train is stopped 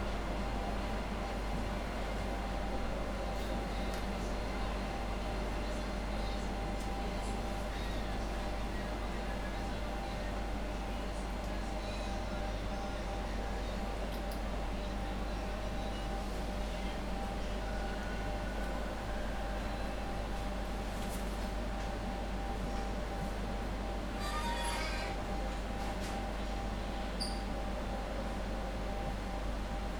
24.1s 26.5s

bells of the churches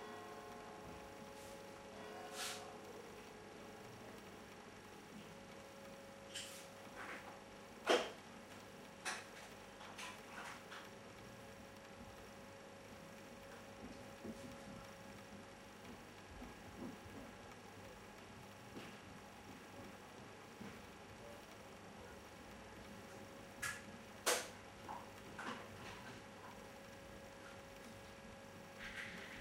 0.0s 2.9s

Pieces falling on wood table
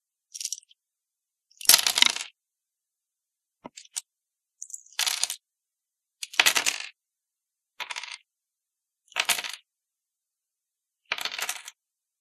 1.6s 2.3s, 4.6s 5.4s, 6.2s 6.9s, 7.8s 8.2s, 9.1s 9.6s, 11.1s 11.8s

